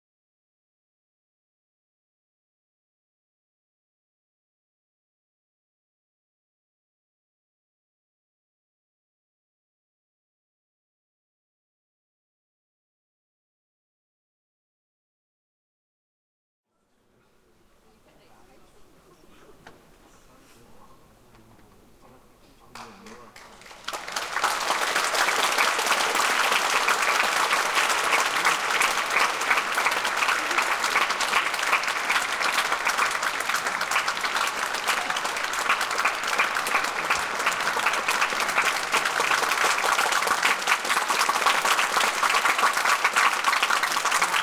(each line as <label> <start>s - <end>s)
applause 22.7s - 44.4s